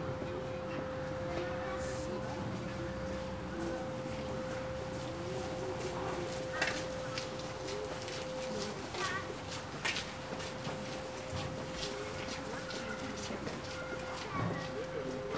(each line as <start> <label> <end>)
3.6 people walking 15.3